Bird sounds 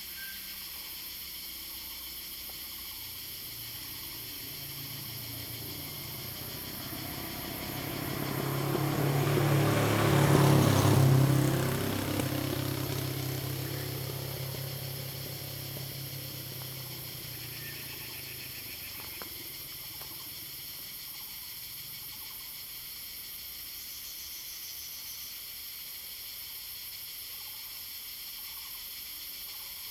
0:03.8 0:20.5

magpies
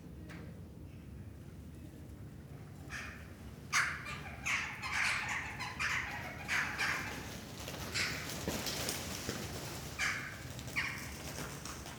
0:02.7 0:11.9

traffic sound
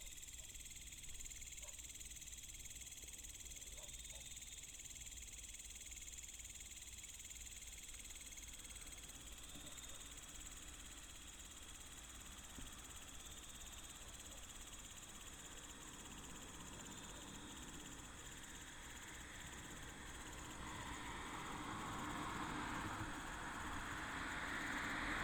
0:15.4 0:25.2

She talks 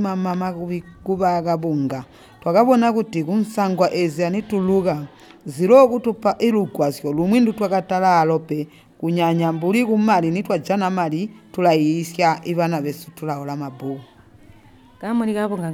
0:13.5 0:15.7

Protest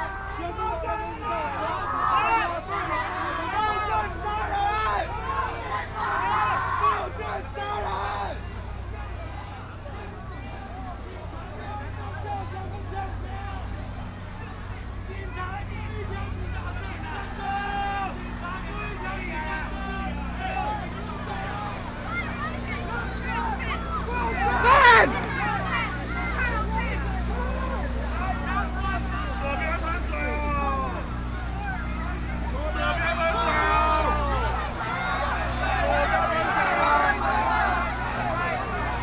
0:20.6 0:39.0

